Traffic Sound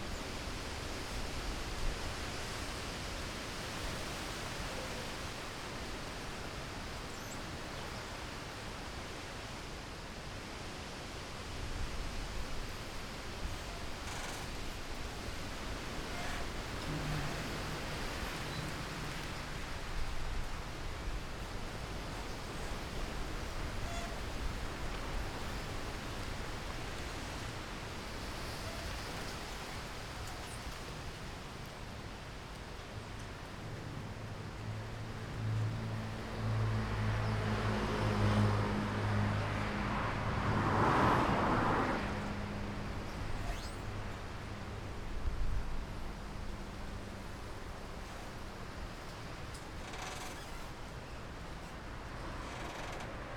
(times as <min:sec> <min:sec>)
0:12.7 0:29.9, 0:33.0 0:53.3